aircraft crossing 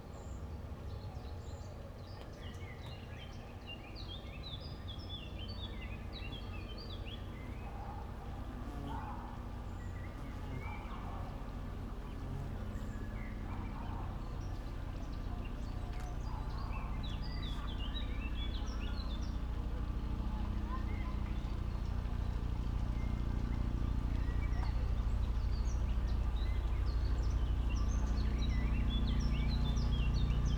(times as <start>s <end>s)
8.3s 30.5s